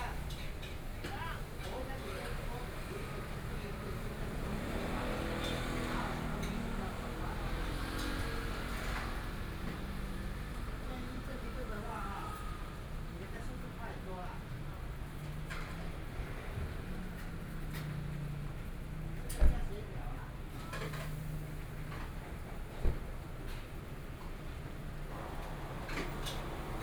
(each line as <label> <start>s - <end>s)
Traffic Sound 0.0s - 13.5s
Traffic Sound 20.2s - 26.8s